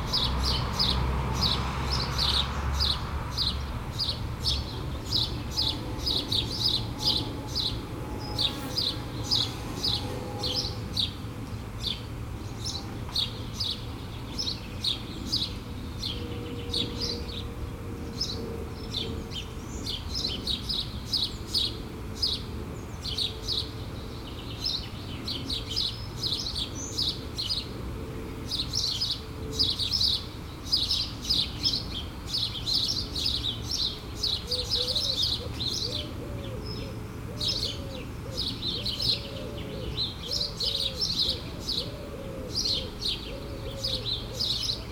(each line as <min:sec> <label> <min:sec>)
0:00.0 cars 0:44.9
0:00.0 planes 0:44.9
0:00.0 sparrows shouting 0:44.9